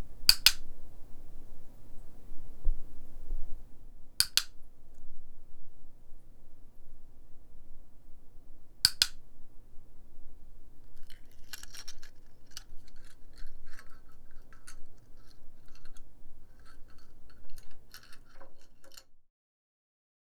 0.3s Clicker 0.6s
4.2s Clicker 4.5s
8.9s Clicker 9.2s

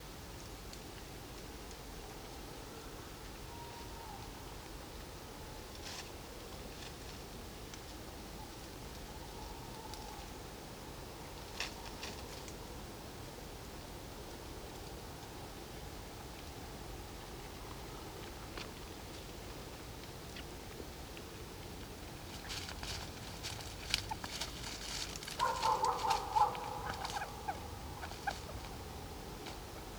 22.4s animal moving and making a squeaking sound 28.7s
23.7s tawny owl 29.9s
23.9s red fox 29.9s
25.4s dog 27.6s

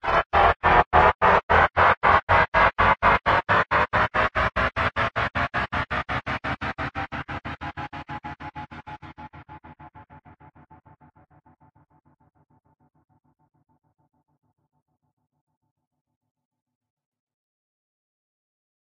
0.0s riser 9.4s

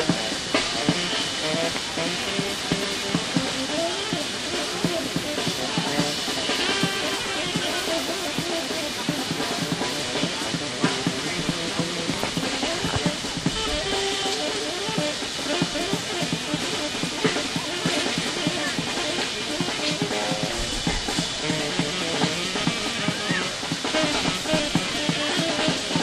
0.0s drummer 26.0s
0.0s fountain 26.0s
0.0s saxophonist 26.0s

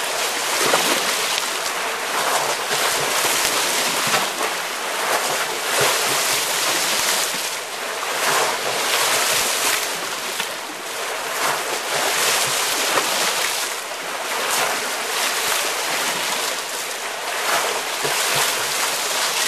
0.0s Water in channel 19.4s

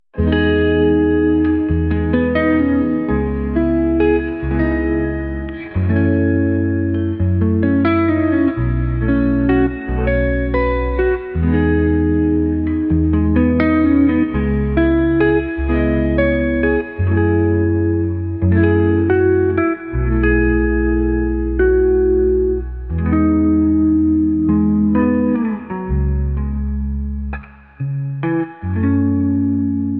0.1s music solo guitar 29.9s

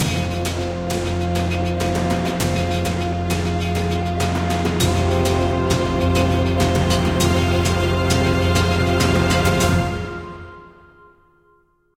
0.0s solo bass 10.3s
0.0s synth 11.8s
0.0s percussion 11.8s

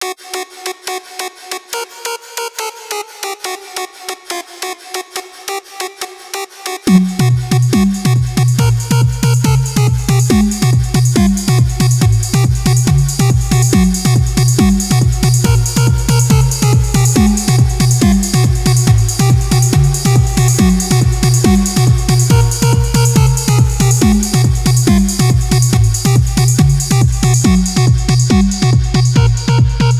6.9s bass 29.9s
6.9s drum 29.9s
6.9s lead 29.9s

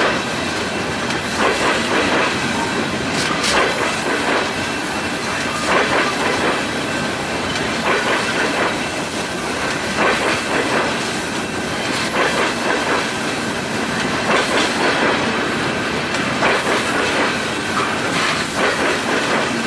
0.0s Freight Train Passing 19.6s

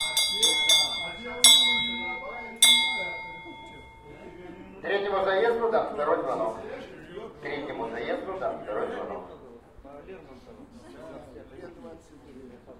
0.0s Second bell to race #3 4.9s

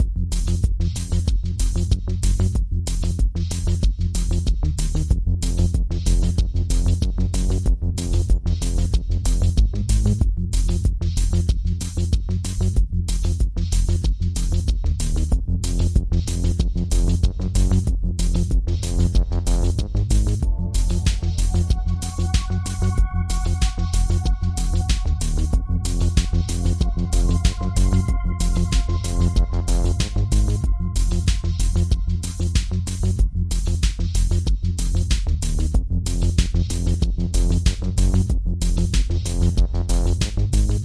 0.0s Drums 40.8s
0.0s bass 40.8s
20.4s arpeggio 31.9s
20.5s pad 30.3s

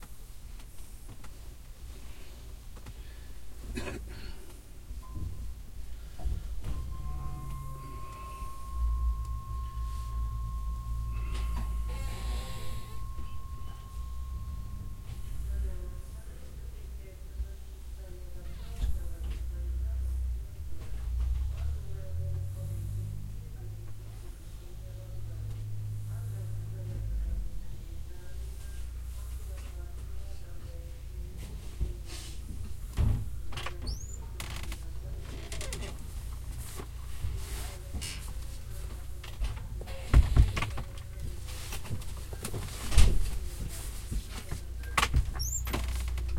4.8s Low frequency rumble of track 31.4s
5.0s station announcements about trains 31.8s

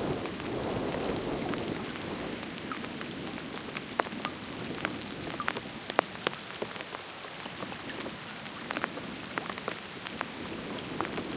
0.0s raindrops on the windscreen 11.3s

